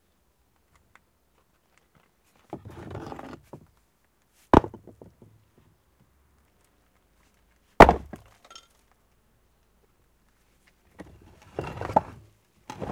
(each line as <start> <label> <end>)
1.8 sorting a pile of building stones 3.6
11.0 sorting a pile of building stones 12.9